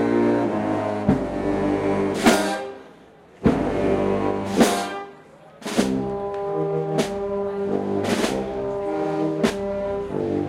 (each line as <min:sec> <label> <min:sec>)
0:00.0 brass band 0:10.4